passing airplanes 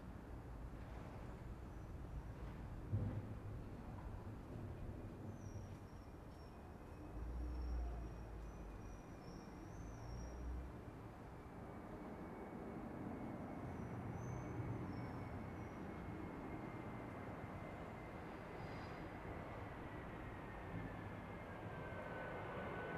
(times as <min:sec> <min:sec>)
0:10.8 0:22.9